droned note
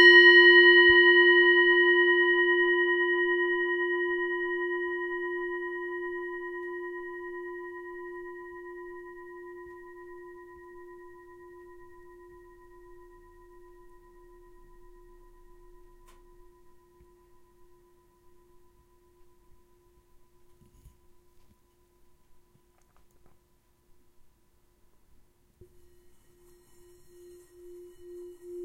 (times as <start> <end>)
25.6 28.6